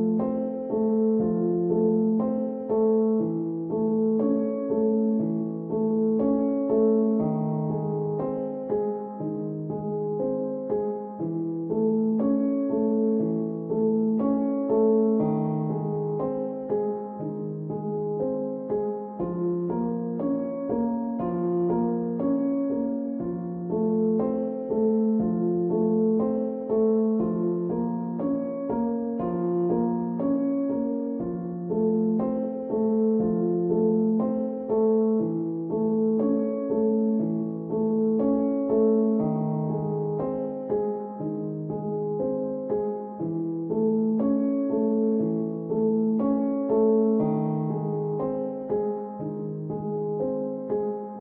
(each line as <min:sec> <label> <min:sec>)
0:00.0 octave piano without melody 0:51.2